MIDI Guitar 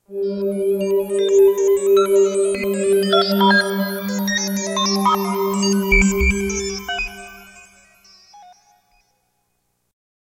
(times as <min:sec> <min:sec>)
0:00.1 0:07.8